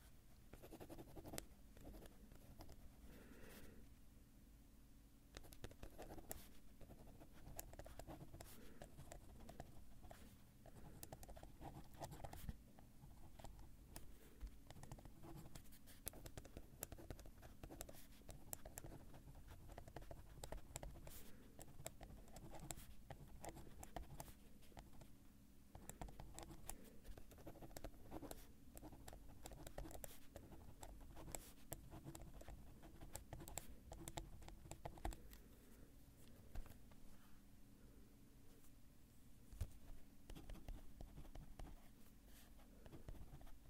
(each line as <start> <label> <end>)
0.5 Pen on paper 2.8
5.3 Pen on paper 25.1
25.7 Pen on paper 35.4
39.6 Pen on paper 43.6